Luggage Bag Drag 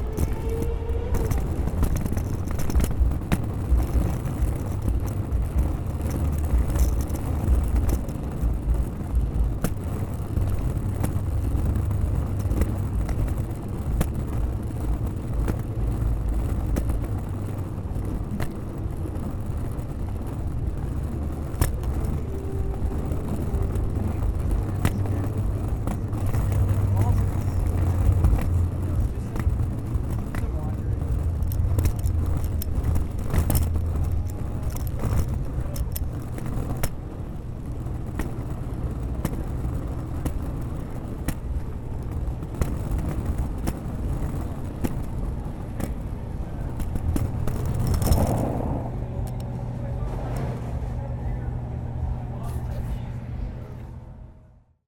42.5 51.0

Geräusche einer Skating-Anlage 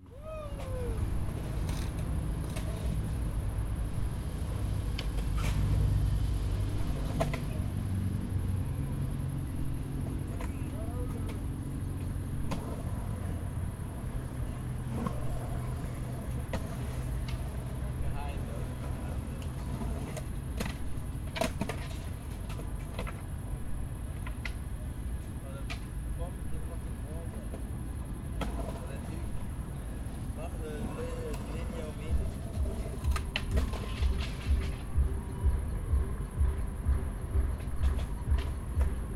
29.9 39.1

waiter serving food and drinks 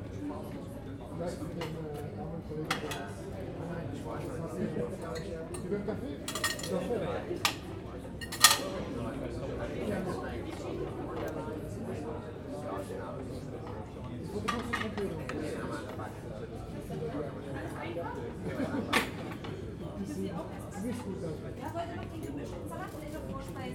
5.0 9.0

